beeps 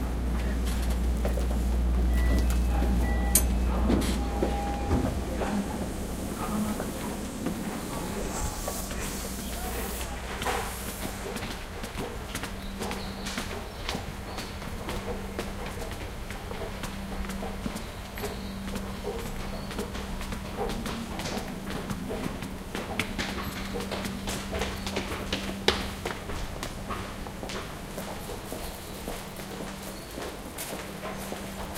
0:02.1 0:05.1

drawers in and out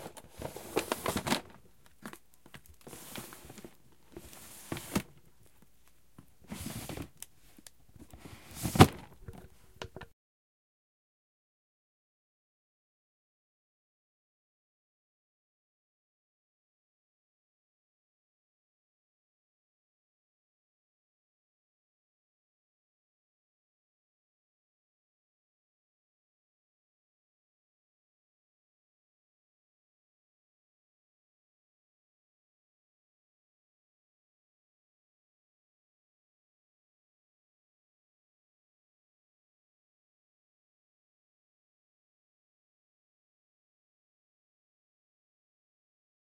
0:00.0 0:01.6, 0:02.8 0:05.2, 0:06.4 0:07.2, 0:08.0 0:10.0

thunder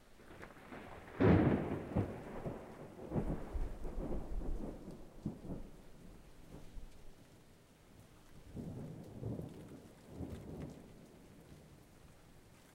0:00.2 0:06.8, 0:08.5 0:11.4

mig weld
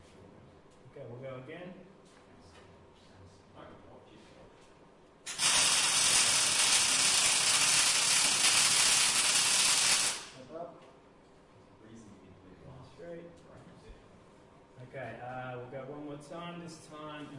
0:05.3 0:10.4

